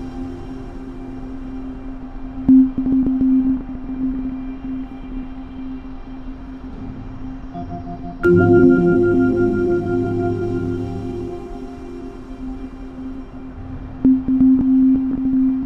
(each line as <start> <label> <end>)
7.6 temporäre klanginstallation 15.6